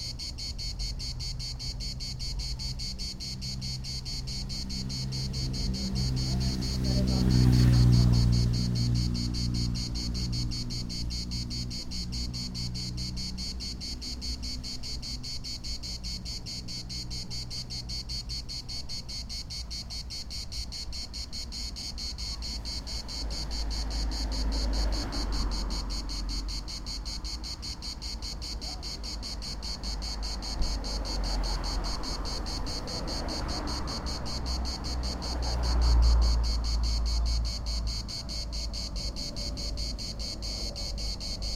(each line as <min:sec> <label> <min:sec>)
0:00.0 drone of what I think must be cicadas 0:41.5
0:00.0 single cicada song 0:41.5